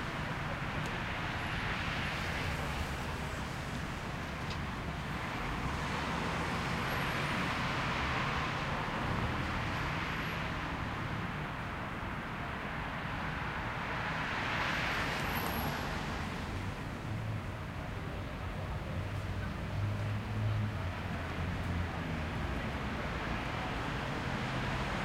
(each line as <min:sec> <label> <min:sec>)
0:00.0 traffic 0:25.0